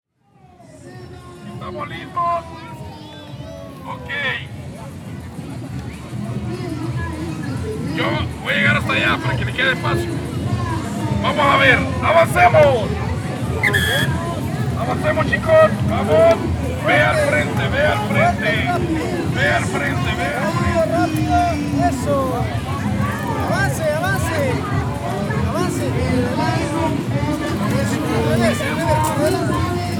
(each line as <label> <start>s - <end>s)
music 0.2s - 29.9s
music teacher instructing kids with a megaphone 0.6s - 4.7s
music teacher instructing kids with a megaphone 6.4s - 29.9s